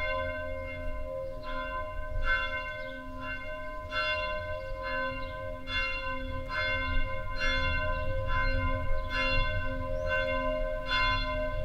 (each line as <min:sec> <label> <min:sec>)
0:00.0 noon bells 0:11.6